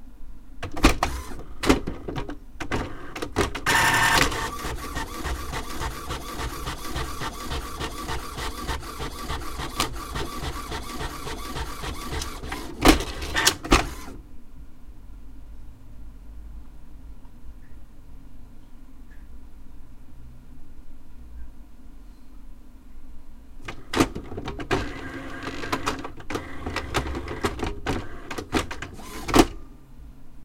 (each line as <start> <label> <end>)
0.6 printer 14.2
23.7 printer 29.6